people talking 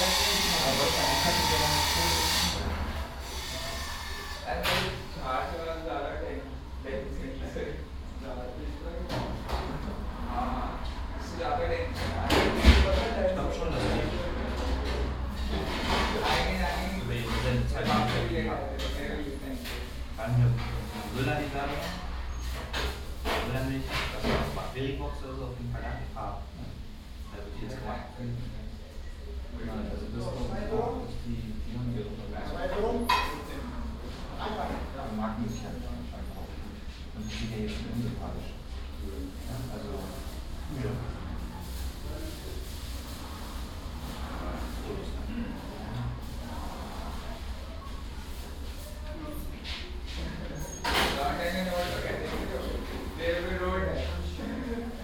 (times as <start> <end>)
0.0 2.6, 4.4 22.0, 34.4 42.7, 48.8 55.0